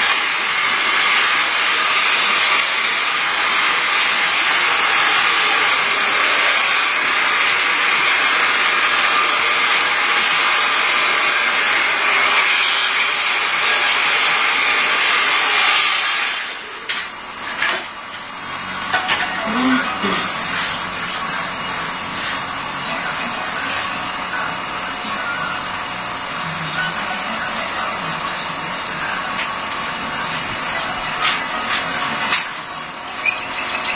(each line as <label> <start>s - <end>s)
barber hairdrying 0.0s - 33.9s
radio 18.8s - 33.9s